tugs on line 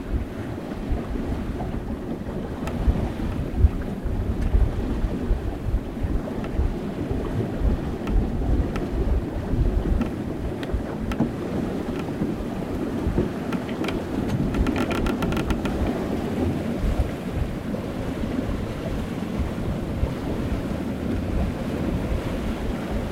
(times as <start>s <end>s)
7.5s 17.5s